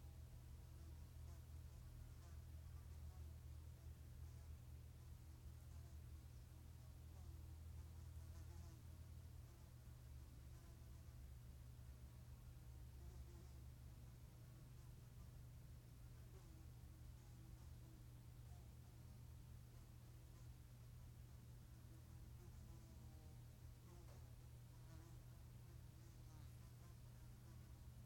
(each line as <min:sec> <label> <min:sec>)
0:00.0 Fly at home 0:28.0
0:00.0 mosquito voando de noite dentro de casa 0:28.0